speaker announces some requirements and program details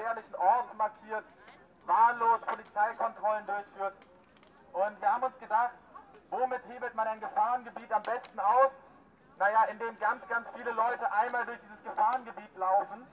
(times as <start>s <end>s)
9.4s 13.1s